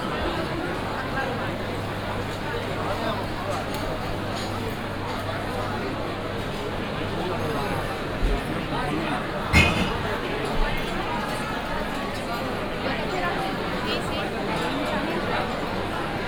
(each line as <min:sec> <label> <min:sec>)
0:08.0 people getting their tapas 0:12.7